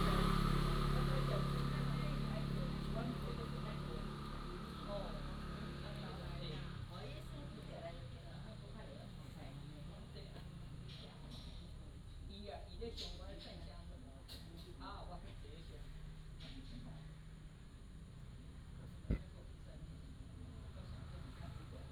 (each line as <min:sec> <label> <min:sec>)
0:00.0 Traffic Sound 0:13.9